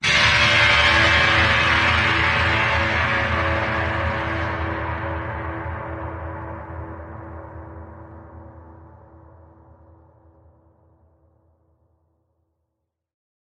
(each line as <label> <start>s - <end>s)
thick power chord like stab 0.0s - 8.5s